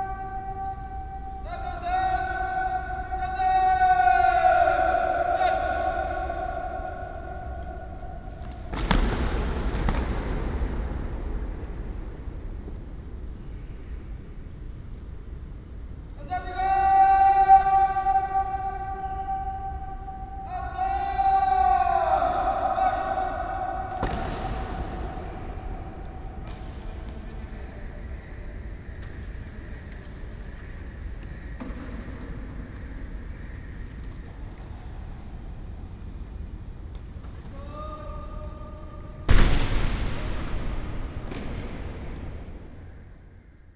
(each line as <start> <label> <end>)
0.0 daily military salute 8.5
16.2 daily military salute 26.4